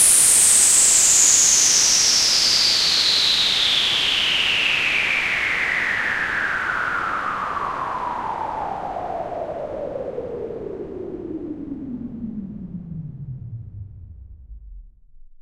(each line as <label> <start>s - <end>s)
White Noise (High to Low) 0.0s - 14.5s